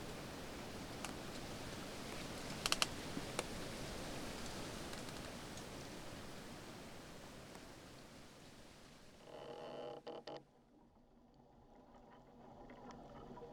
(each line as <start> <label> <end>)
0.0 Tree in a wind 9.7